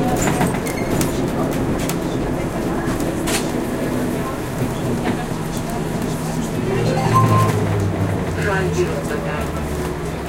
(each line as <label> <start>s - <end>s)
trolleybus 0.0s - 10.2s